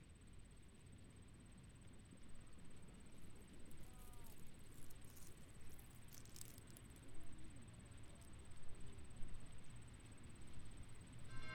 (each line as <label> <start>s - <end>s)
bugs in a bush 2.2s - 11.0s